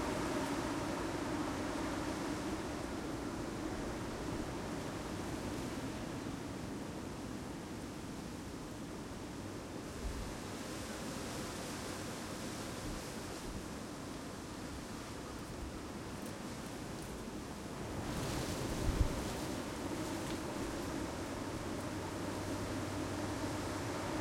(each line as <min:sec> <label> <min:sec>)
0:17.3 wind blowing through the trees 0:24.2